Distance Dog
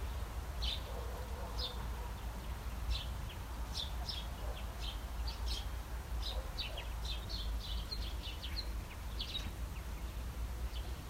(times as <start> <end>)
0.8 2.2, 6.2 6.9